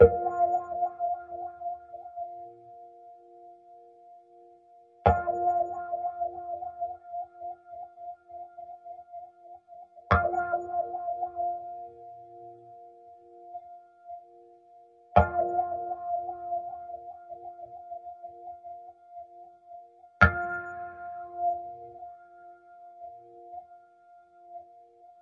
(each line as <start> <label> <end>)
20.2 guitars 21.5